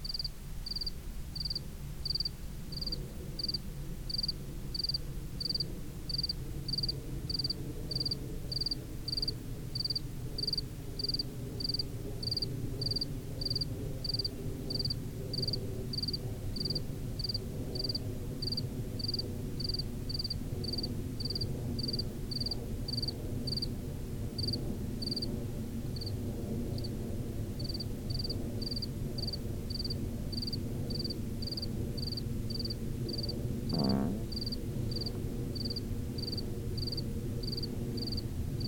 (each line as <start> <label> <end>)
0.0 cricket chirping 23.7
6.4 plane crossing the sky 8.9
27.6 cricket chirping 38.6
31.7 plane crossing the sky 38.6